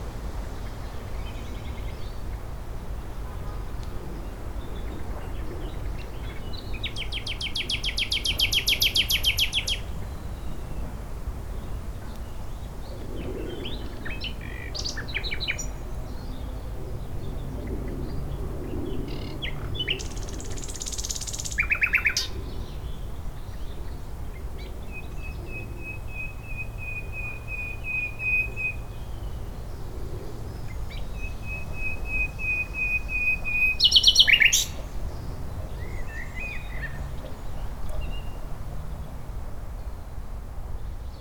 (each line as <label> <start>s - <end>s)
Nightingale singing in undergrowth 0.0s - 3.2s
Nightingale singing in undergrowth 4.0s - 16.5s
Nightingale singing in undergrowth 19.0s - 38.5s